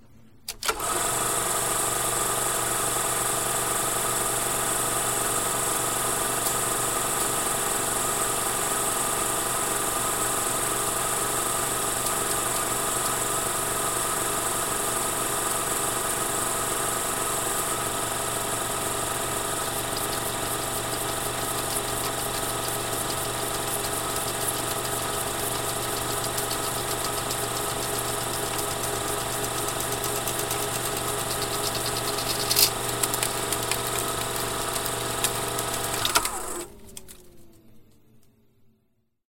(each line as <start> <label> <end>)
0.5 film projector starting and running 37.5